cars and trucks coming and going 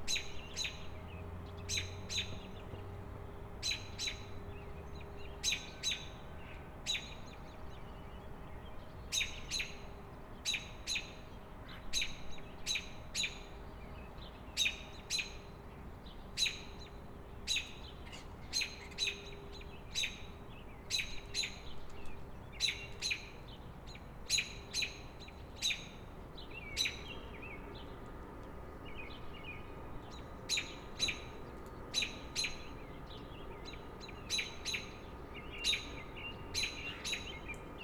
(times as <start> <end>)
0.2 5.4